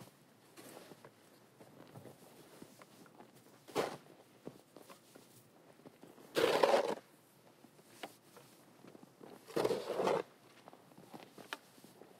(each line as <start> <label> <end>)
3.7 Shoveling snow 4.0
6.3 Shoveling snow 7.0
9.4 Shoveling snow 10.3